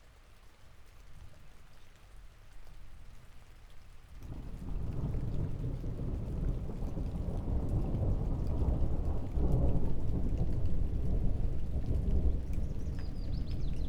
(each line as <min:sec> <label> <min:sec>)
0:00.0 rain 0:13.8
0:04.3 thunder 0:13.8